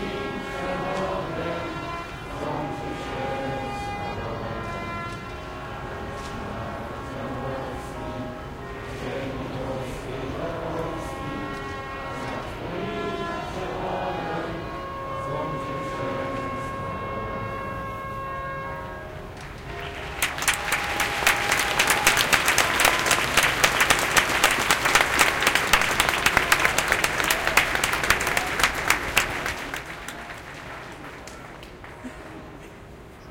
0.0s trumpet 32.5s
0.0s anthem 33.2s
0.0s crowd 33.3s

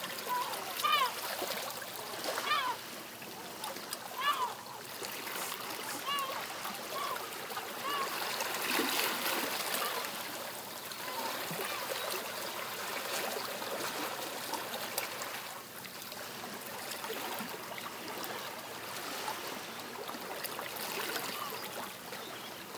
0.0s waves 22.7s
0.2s seagulls in the distance 13.5s
21.0s seagulls in the distance 22.7s

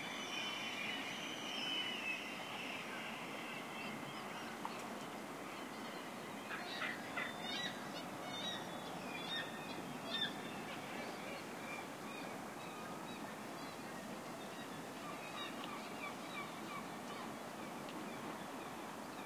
0.0s sea 19.2s

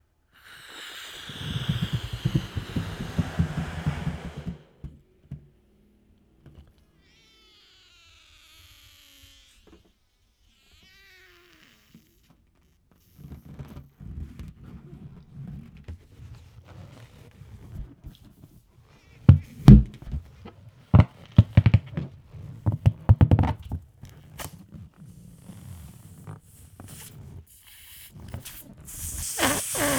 0.3s inflated a balloon 4.9s
0.4s deflated it slowly with squeaking 4.9s
7.0s deflated it slowly with squeaking 13.6s
24.4s inflated a balloon 29.9s
25.1s deflated it slowly with squeaking 29.9s
28.9s squeaking sounds 29.9s

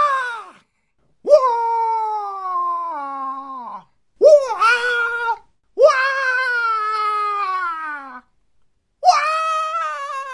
0.0s shout 0.6s
1.3s cartoon/anime style monkey 8.2s
1.3s shout 8.3s
9.0s scream 10.3s
9.0s shout 10.3s

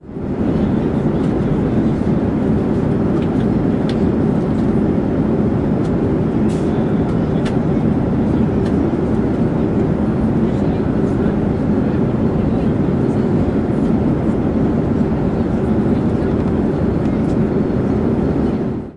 0.0s airplane 18.9s

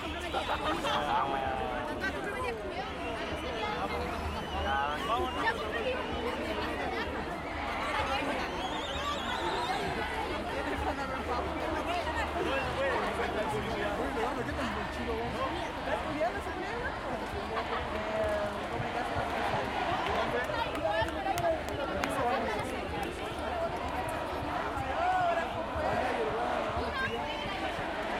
0.0s crowd 28.1s

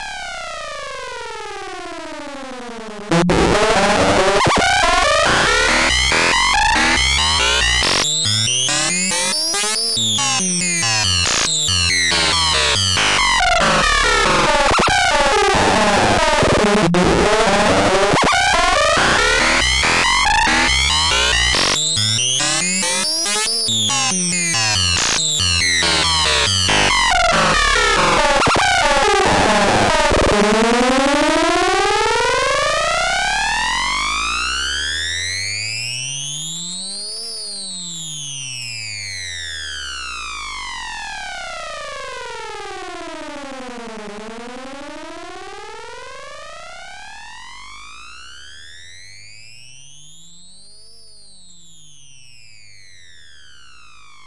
3.1s dark synth 31.0s

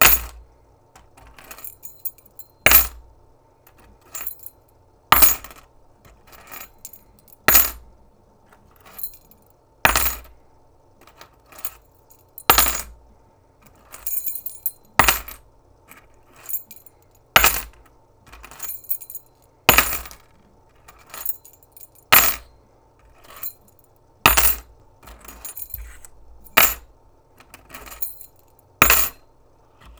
0.0s Keys dropping and picking up 0.4s
1.0s Keys dropping and picking up 3.0s
3.7s Keys dropping and picking up 7.8s
8.5s Keys dropping and picking up 10.3s
11.0s Keys dropping and picking up 13.0s
13.7s Keys dropping and picking up 29.2s

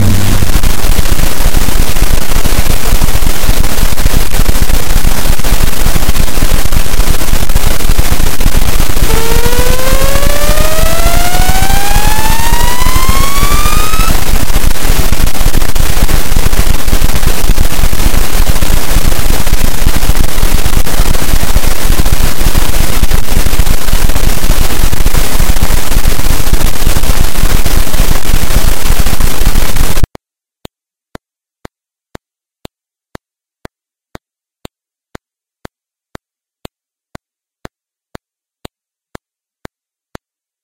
0.0s zap 2.7s
0.0s crackle 30.2s

